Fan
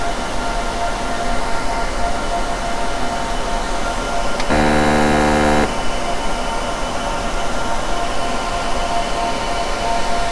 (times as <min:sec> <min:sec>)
0:04.4 0:05.8